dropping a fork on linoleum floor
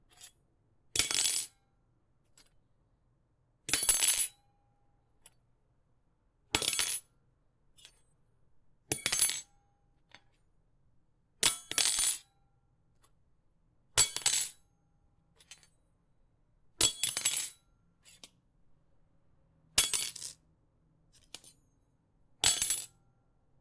14.0s 14.5s, 19.8s 20.4s, 22.4s 22.9s

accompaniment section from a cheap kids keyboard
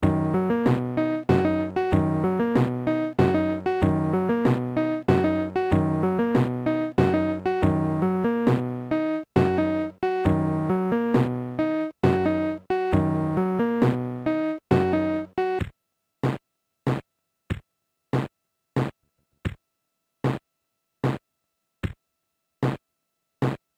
0.0s 15.7s

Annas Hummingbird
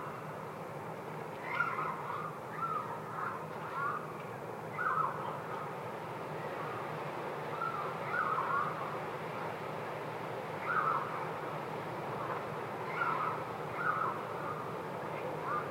4.7s 9.0s, 10.5s 15.7s

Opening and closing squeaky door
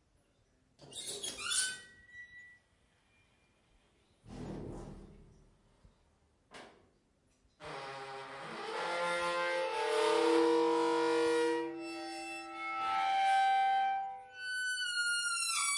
0.8s 2.6s, 7.6s 15.7s

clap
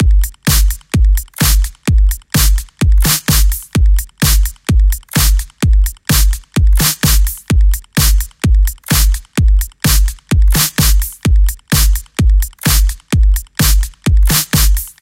0.5s 1.8s, 2.4s 4.5s, 5.1s 7.4s, 8.9s 9.3s, 9.9s 15.0s

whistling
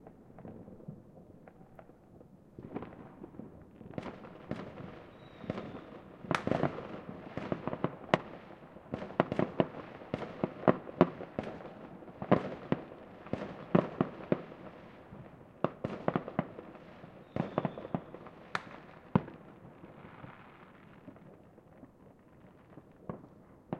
5.1s 5.9s

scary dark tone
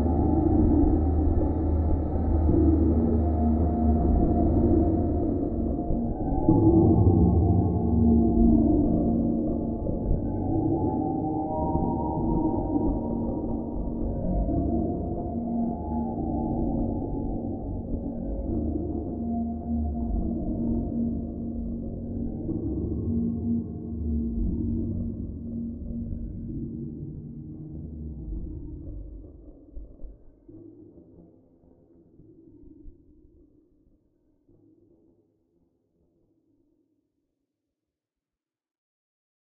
0.0s 29.3s

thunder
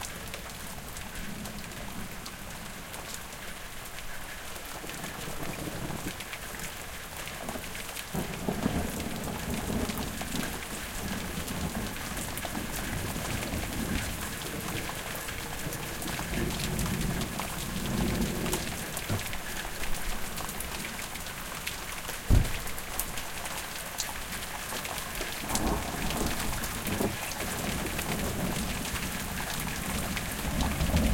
22.3s 22.8s, 29.8s 31.1s

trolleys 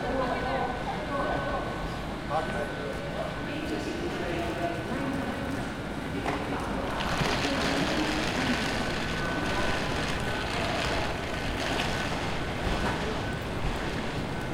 6.8s 14.5s

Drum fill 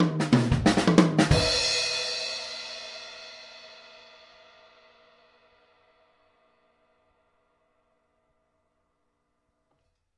0.0s 2.7s

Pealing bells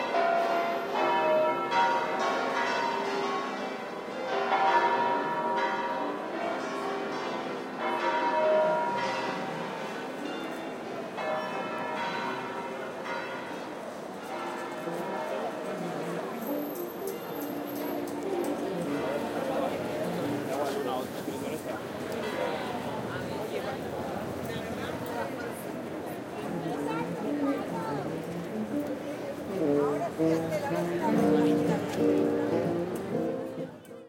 0.0s 20.8s

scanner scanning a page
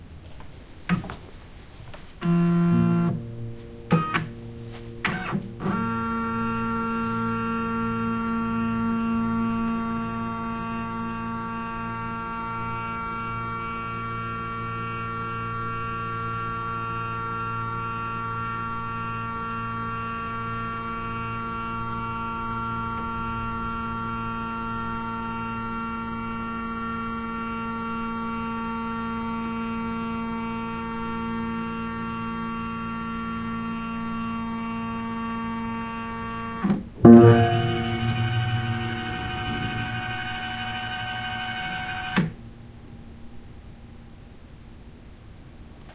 37.1s 42.3s

